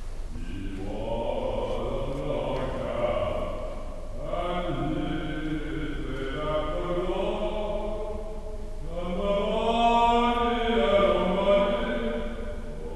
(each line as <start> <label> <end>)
0.0 Singer 12.9